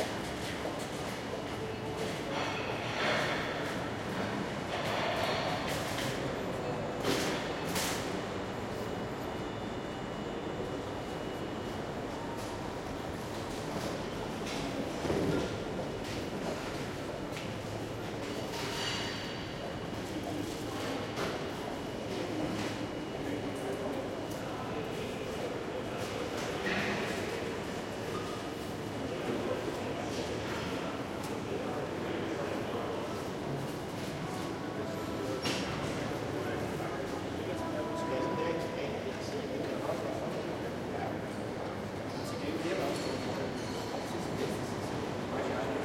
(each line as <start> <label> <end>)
0.0 Trains can be heard arriving and leaving 45.8
13.5 people talking 45.8